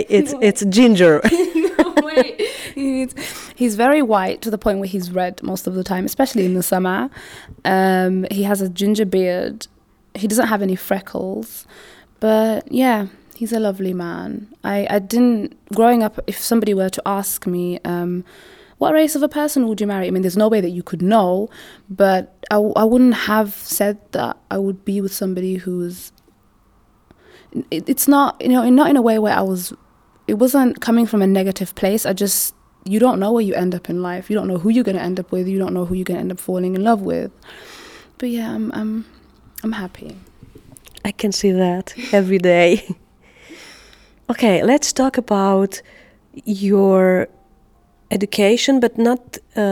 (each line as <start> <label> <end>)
0.0 interviews 11.6